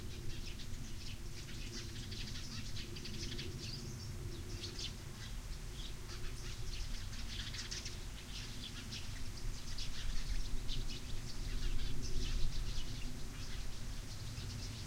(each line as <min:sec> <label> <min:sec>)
0:00.0 birds 0:14.8
0:00.0 wind 0:14.8